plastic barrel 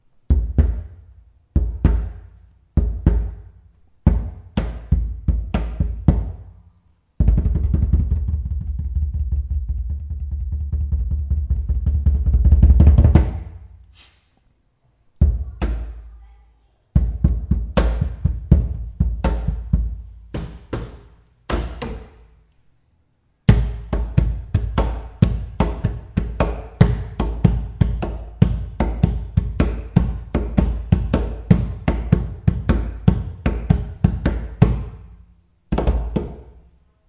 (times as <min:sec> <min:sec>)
0:07.2 0:14.1